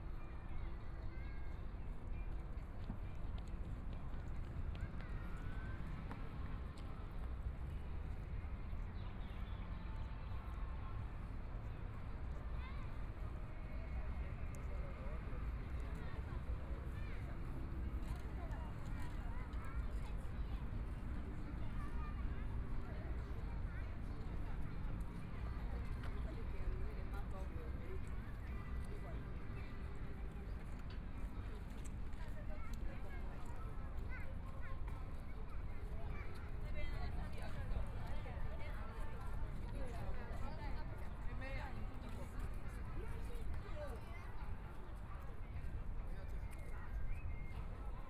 Walking through the park 0:00.1 - 0:48.0

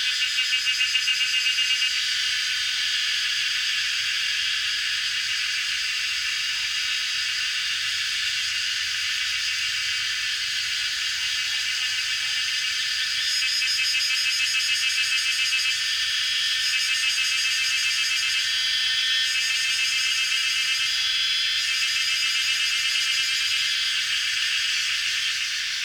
Cicada sounds 0:00.0 - 0:25.8

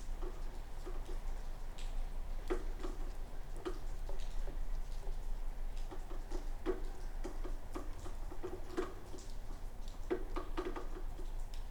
rain 0:00.0 - 0:11.7

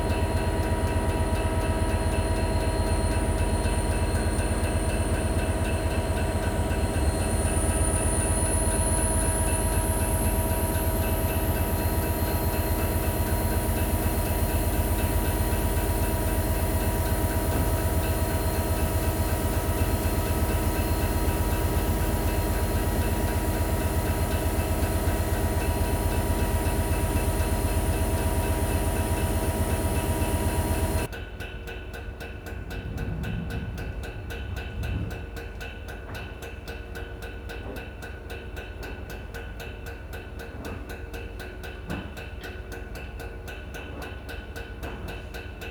Rhythmic train 0:00.0 - 0:45.7

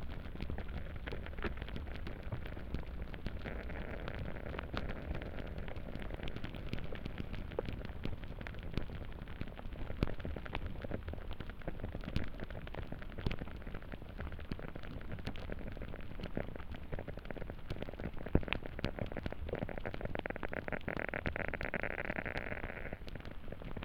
melting snow 0:00.0 - 0:23.8

